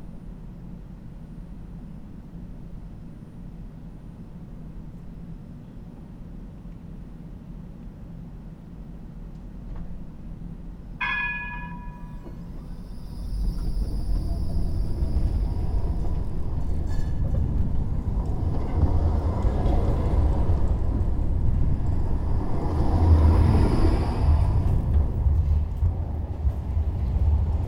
tram being slowly driven out of the tram station 0.0 - 27.6
cars passing over the tracks 11.0 - 27.6

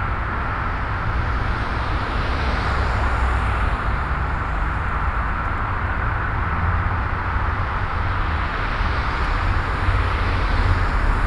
road traffic 0.0 - 11.2

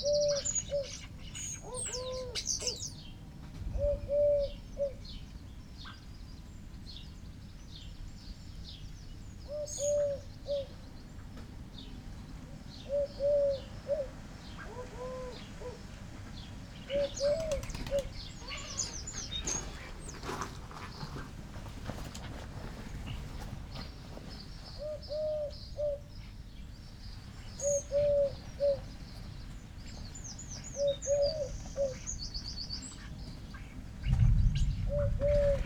wood pigeon 0.0 - 1.0
blackbird 0.0 - 3.2
collared dove 0.0 - 6.0
wood pigeon 3.6 - 5.0
blackbird 3.8 - 12.0
collared dove 9.4 - 35.6
blackbird 12.7 - 21.2
house sparrow 12.8 - 35.6
wood pigeon 16.4 - 26.1
blackbird 22.8 - 35.6
wood pigeon 27.6 - 28.9
wood pigeon 33.0 - 35.6
a moving away thunderstorm 34.0 - 35.6

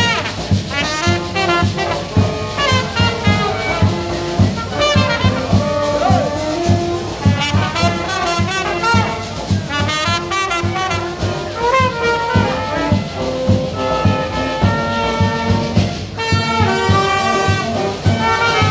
ORCHESTRE 0.0 - 18.7

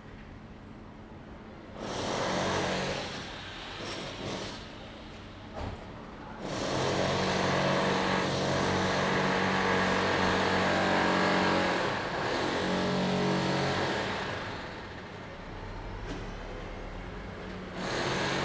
Construction noise 6.5 - 18.4

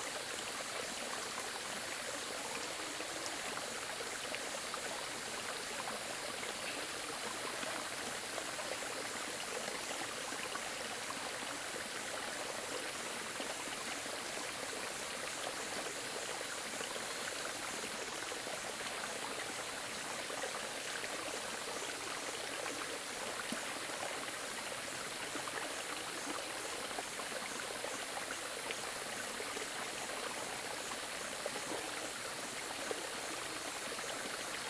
stream 0.0 - 34.6

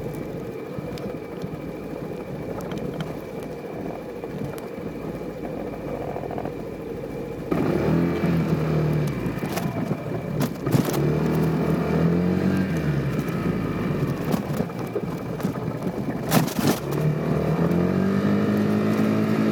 Vespa ride 0.0 - 19.5

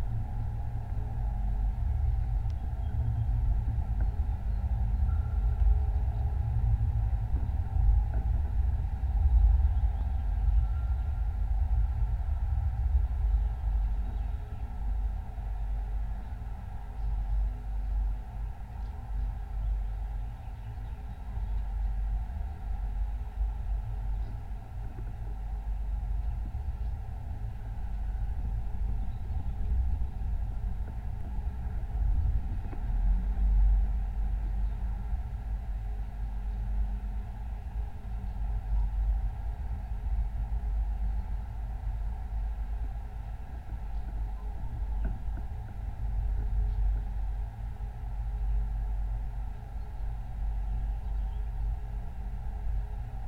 Rain pipe on abandone building 0.0 - 53.2

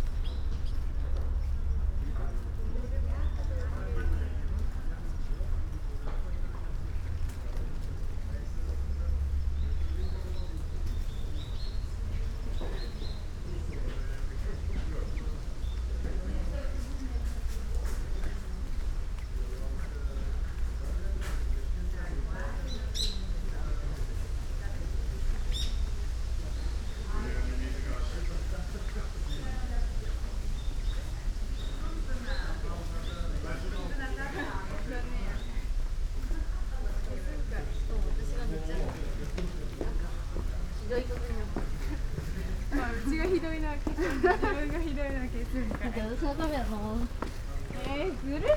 birds 0.0 - 24.2
people talking 0.9 - 48.5
birds 24.8 - 35.8
steps 38.8 - 48.5

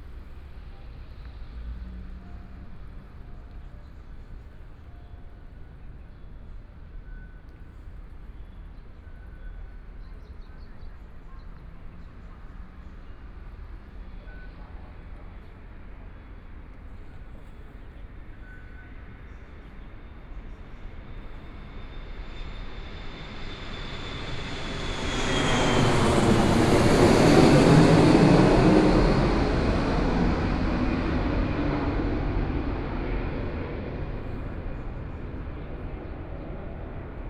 MRT train stop away from the station 0.0 - 37.2
Aircraft traveling through 11.8 - 37.2

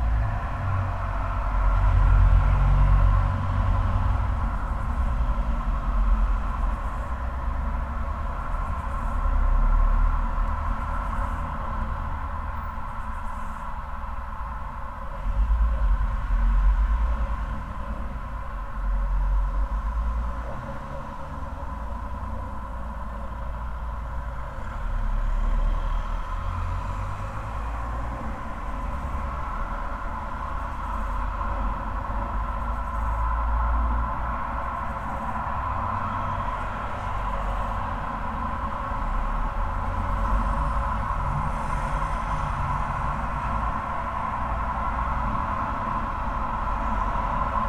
resonant drone of the drain pipe 0.0 - 47.6
traffic sounds 0.0 - 47.6
wind 0.0 - 47.6

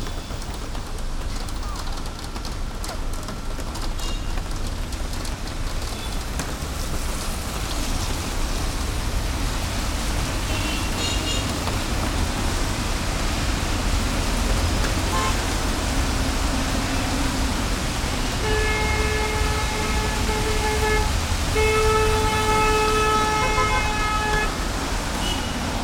rain 0.0 - 25.8
traffic 0.0 - 25.8

